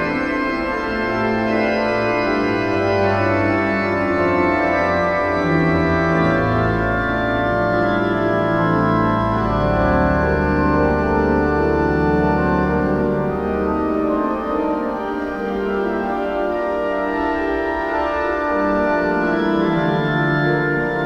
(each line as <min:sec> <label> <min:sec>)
0:00.0 Organ concert 0:21.0